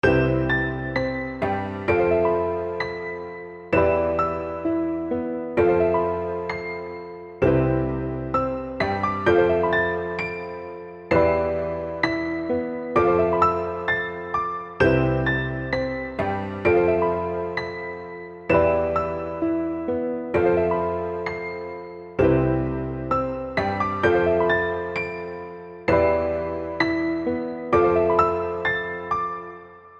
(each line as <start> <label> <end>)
0.0 Bass 2.9
0.0 melody 29.9
7.4 Bass 10.5
11.1 Bass 17.6
22.2 Bass 28.7